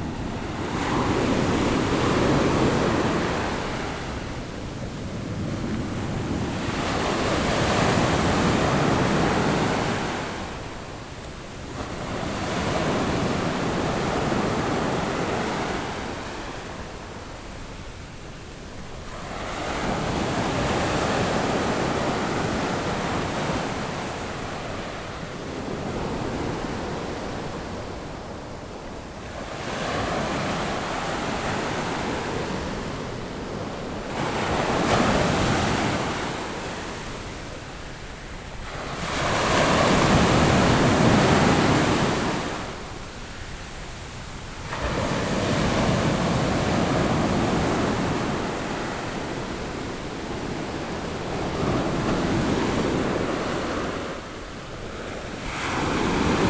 the waves 0.0 - 56.4

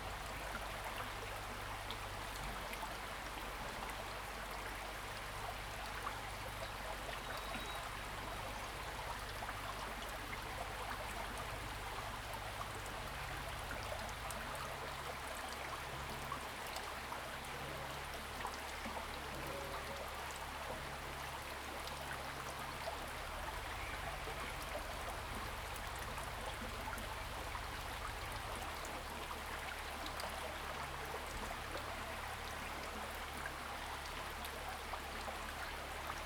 Small streams 0.0 - 36.2

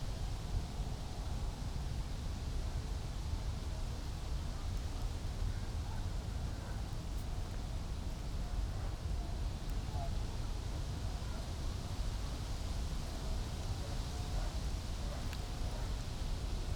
wind 0.0 - 16.7

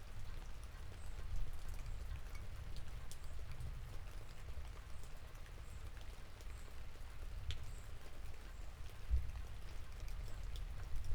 rain 0.0 - 11.1

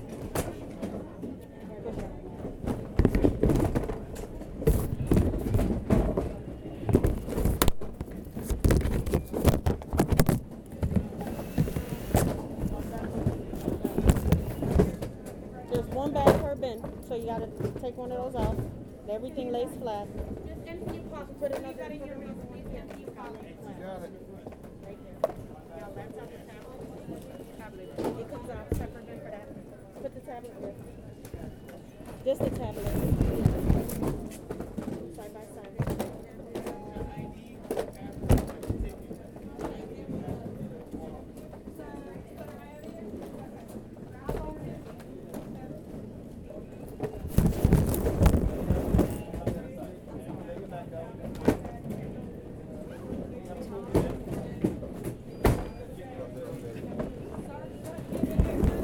TSA officials and air travelers are heard 0.0 - 58.8

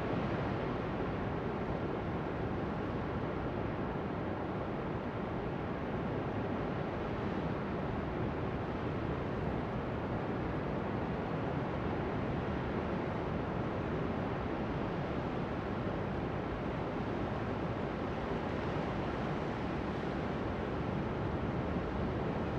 LARGE OCEAN ROAR BIG WAVES ROCKS 0.0 - 22.5

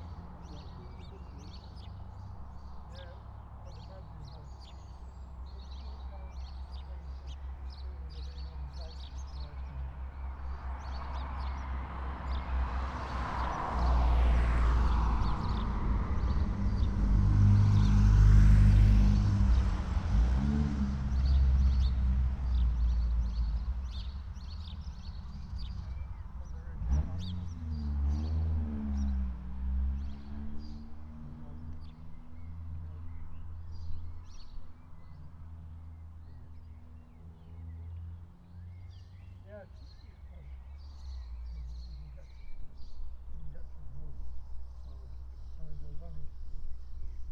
blackbird 0.0 - 14.0
house sparrow 0.0 - 20.1
cyclists 0.0 - 47.3
entrants from the car rally 0.0 - 47.3
lots of traffic 0.0 - 47.3
house sparrow 21.0 - 47.3
blackbird 29.9 - 47.3

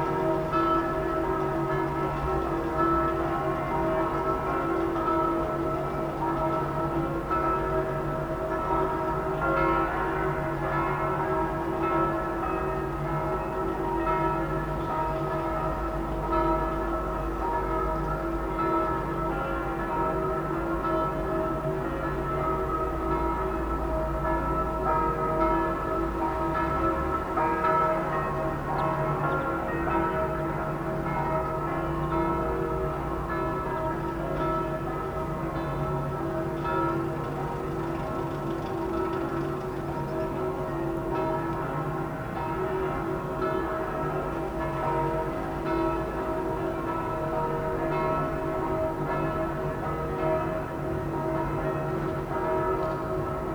Bells ringing 0.0 - 53.5

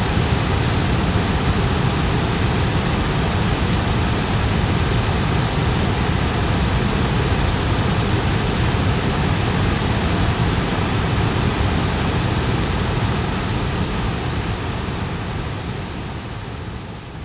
Waterfall 0.0 - 17.2

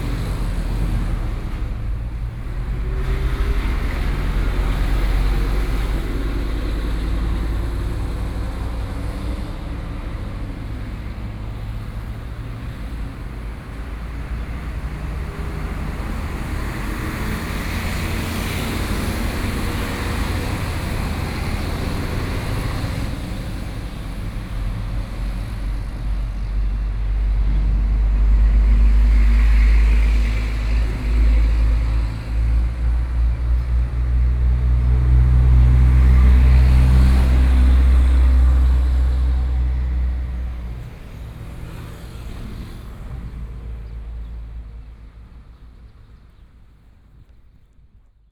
traffic sounds 0.0 - 48.3
big trucks 0.0 - 48.3

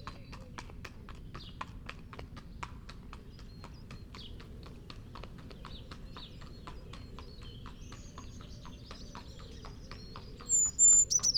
passing horse 0.0 - 11.3
pheasant 2.4 - 11.3
collared dove 3.1 - 11.3
blackbird 3.2 - 11.3
singing blue tit 5.5 - 11.3
song thrush 6.4 - 11.3
robin 10.4 - 11.3
wren 10.5 - 11.3

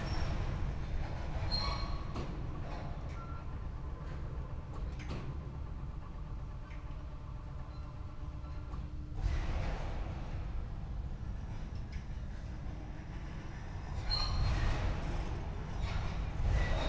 overhead crane moving rails 8.6 - 16.8

